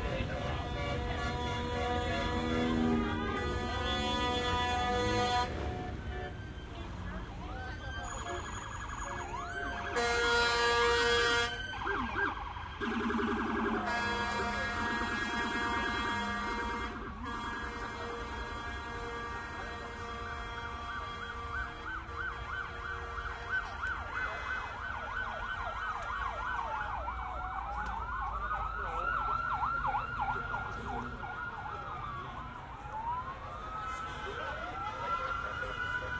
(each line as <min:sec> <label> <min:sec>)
0:00.0 people talking 0:04.6
0:00.0 horns 0:06.6
0:00.0 cars 0:36.1
0:00.0 crowd noise 0:36.1
0:00.0 sirens 0:36.1
0:06.7 people talking 0:10.0
0:08.0 horns 0:11.6
0:13.1 people talking 0:20.0
0:13.7 horns 0:24.8
0:26.3 people talking 0:36.1